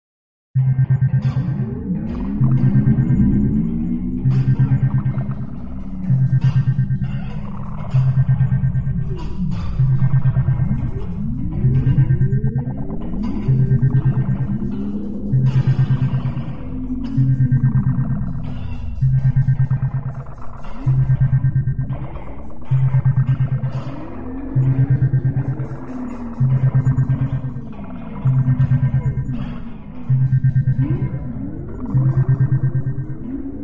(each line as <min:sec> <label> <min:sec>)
0:00.6 synthesizer beeps and warbles 0:33.6
0:00.6 machinery 0:33.6